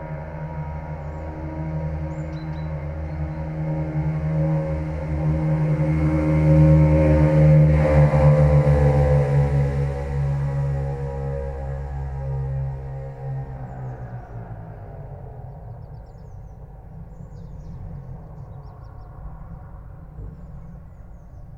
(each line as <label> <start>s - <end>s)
approaching engine 0.0s - 21.5s
birds 15.2s - 21.5s